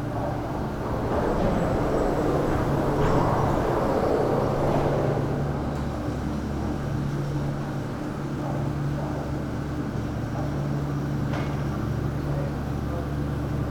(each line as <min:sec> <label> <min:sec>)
0:00.0 gondola station at work 0:13.7